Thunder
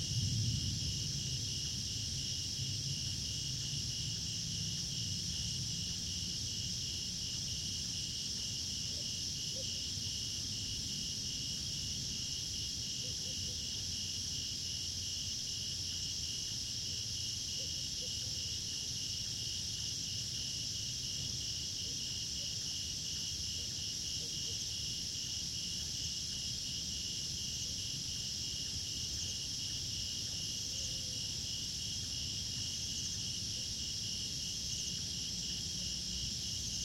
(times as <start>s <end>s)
0.0s 5.2s